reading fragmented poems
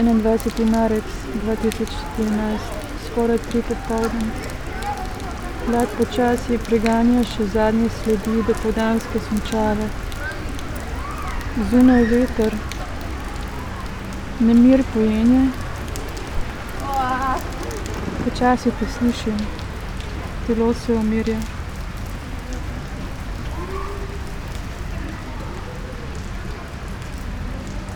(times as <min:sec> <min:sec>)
0:00.0 0:10.7, 0:14.2 0:21.5